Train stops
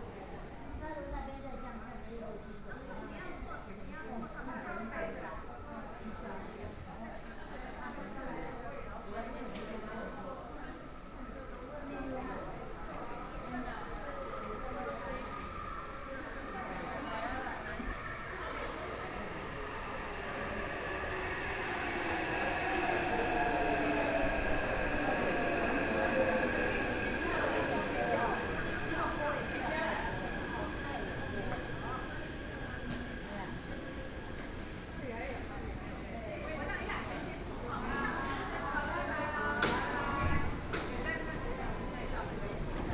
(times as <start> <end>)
10.5 42.9